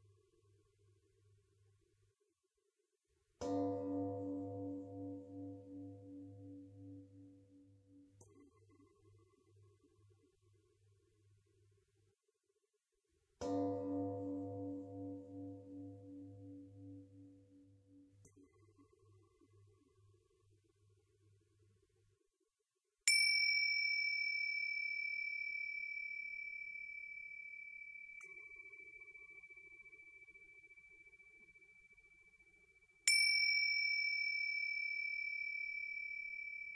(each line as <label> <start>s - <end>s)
two singing bowl mix 3.4s - 8.4s
two singing bowl mix 23.1s - 36.7s